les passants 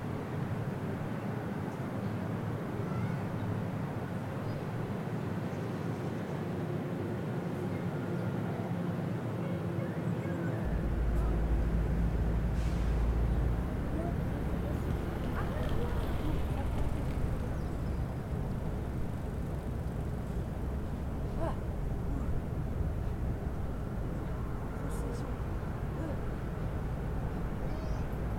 10.6 28.3

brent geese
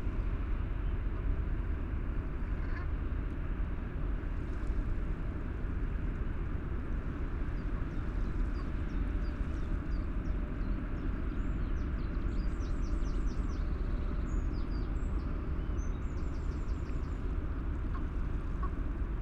17.9 18.8

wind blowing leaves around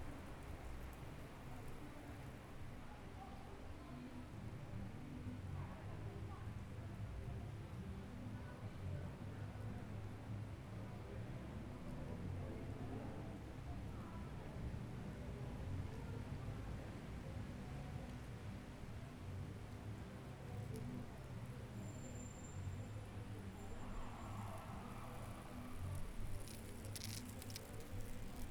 22.5 28.5

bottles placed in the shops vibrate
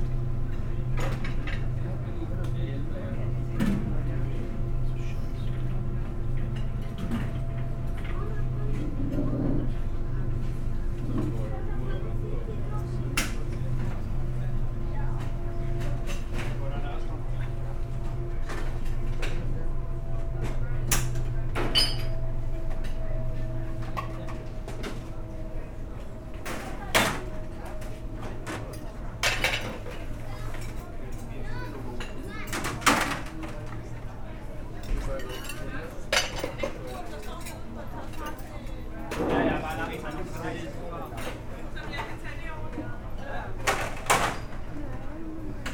21.3 26.4

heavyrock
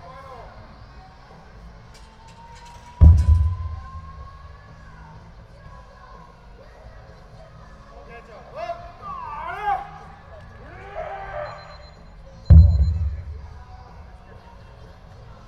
12.5 14.0

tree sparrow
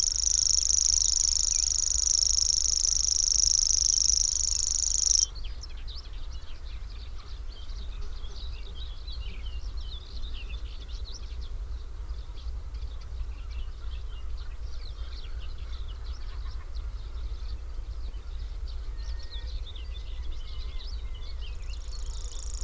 0.0 5.3

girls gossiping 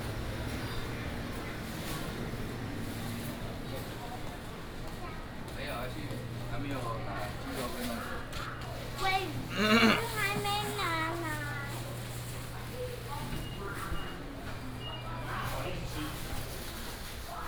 8.9 11.6

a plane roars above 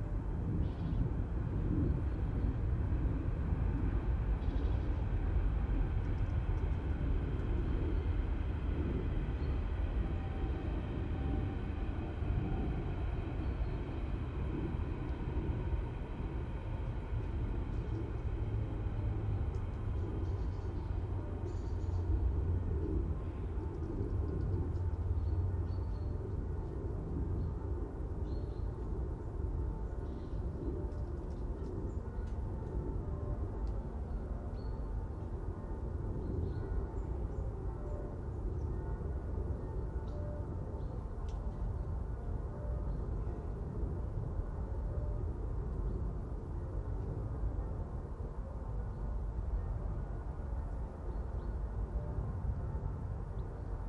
0.0 33.8

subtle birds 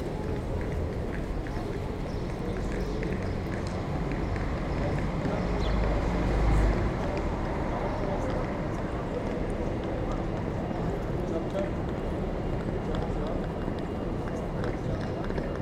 0.3 8.6

